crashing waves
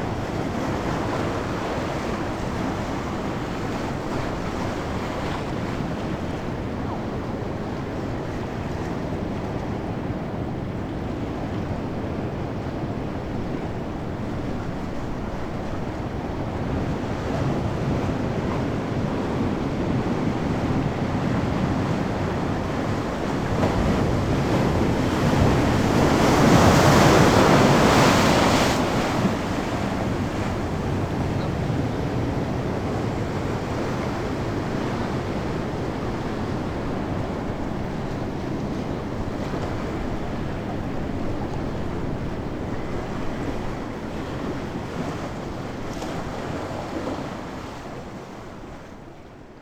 16.9s 48.3s

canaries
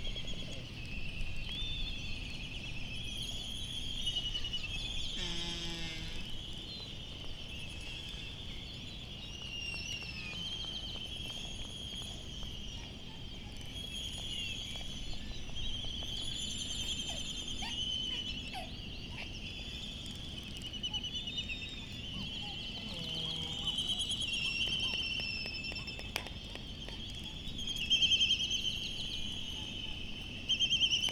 9.4s 31.1s

